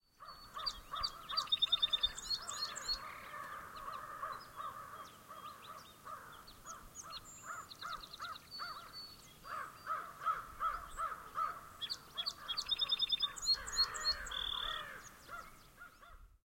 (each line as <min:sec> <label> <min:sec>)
0:00.0 Song Sparrow 0:16.3